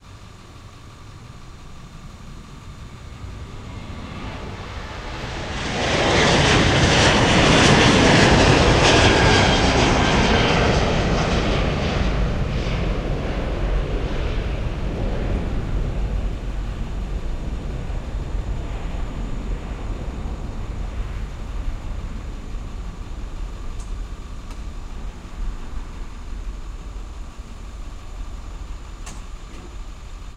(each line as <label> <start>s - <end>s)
traffic noise 0.0s - 7.2s
planes taking off 0.0s - 30.3s